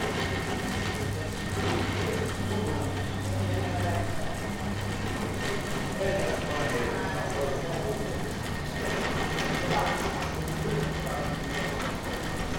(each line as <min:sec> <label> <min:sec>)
0:00.0 mechanism of one of the many cable cars 0:12.5